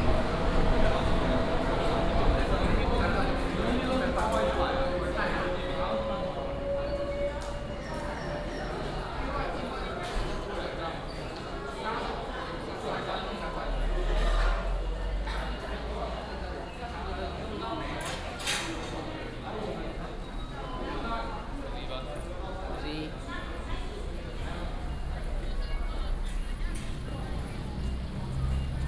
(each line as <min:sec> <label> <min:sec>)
0:00.0 The train leaves the station 0:28.8